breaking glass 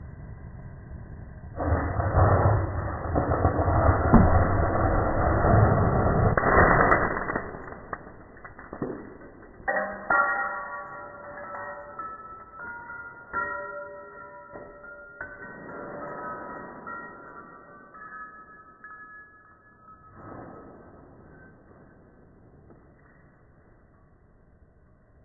0:06.3 0:14.2

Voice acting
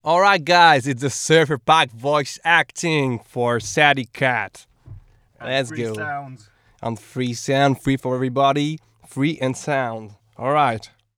0:05.4 0:07.4

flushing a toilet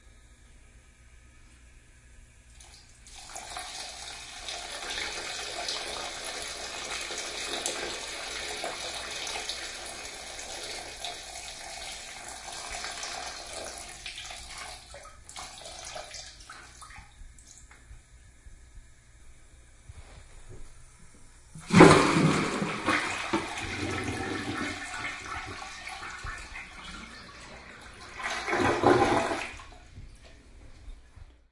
0:02.5 0:17.8, 0:21.5 0:30.4

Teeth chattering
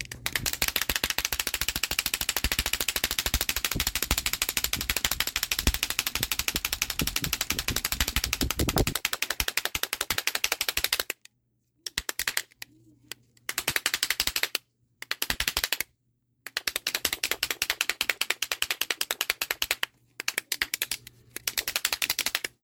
0:00.3 0:09.5

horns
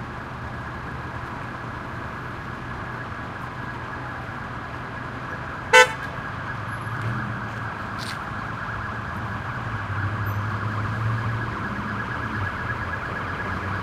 0:05.7 0:06.1

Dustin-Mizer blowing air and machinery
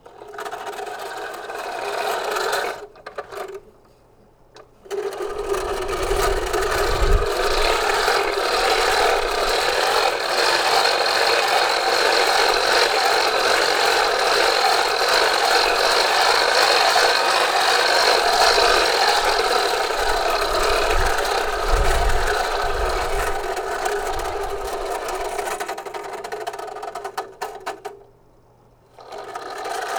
0:05.3 0:25.4

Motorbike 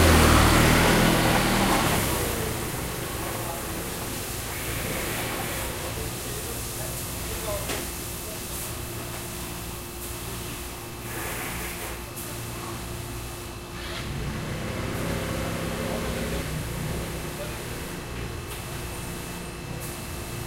0:00.0 0:06.0, 0:13.7 0:19.0

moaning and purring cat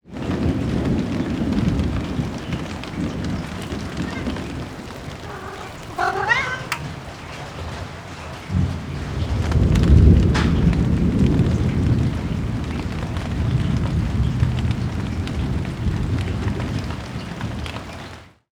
0:03.2 0:07.2

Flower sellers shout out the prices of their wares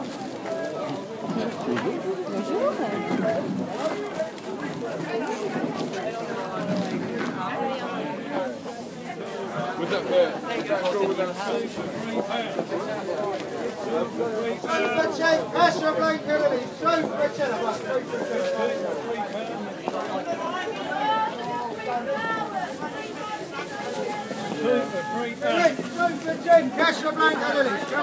0:13.8 0:28.0

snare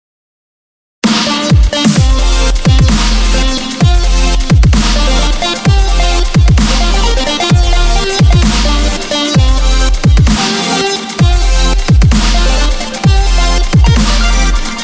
0:01.0 0:02.0, 0:02.8 0:03.5, 0:04.8 0:05.1, 0:12.1 0:12.7, 0:14.0 0:14.8

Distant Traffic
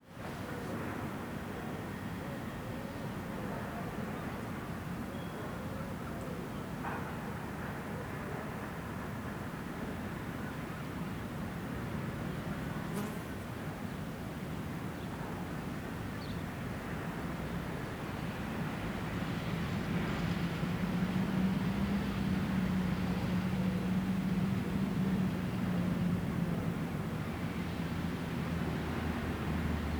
0:16.5 0:29.9

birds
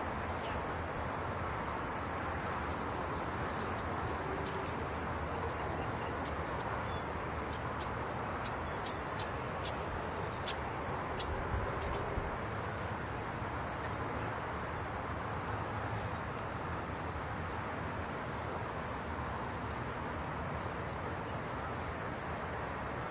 0:02.7 0:12.2

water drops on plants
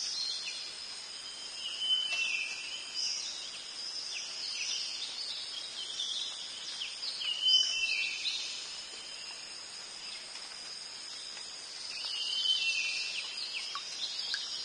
0:13.2 0:14.6

